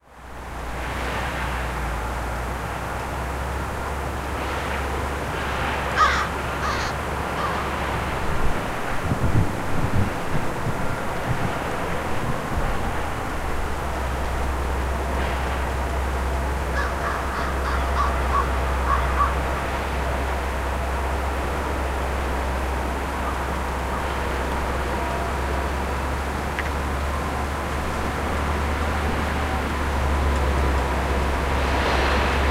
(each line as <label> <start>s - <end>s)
wind noise 7.9s - 14.2s